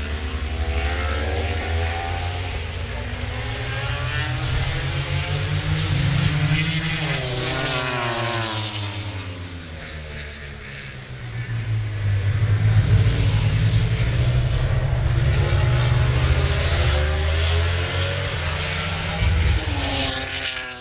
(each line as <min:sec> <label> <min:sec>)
0:00.0 british motorcycle grand prix 0:20.8